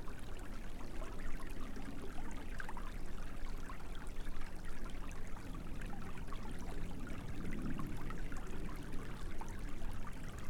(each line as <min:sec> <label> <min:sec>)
0:00.0 Creek 0:10.4